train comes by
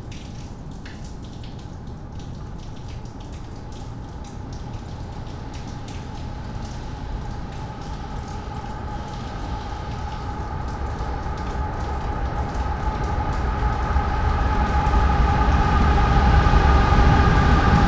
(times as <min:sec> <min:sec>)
0:06.2 0:17.8